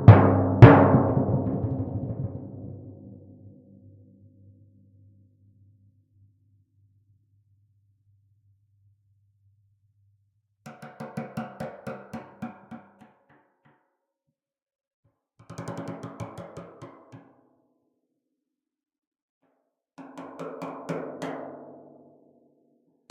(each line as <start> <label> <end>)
0.0 timpani rolls 3.4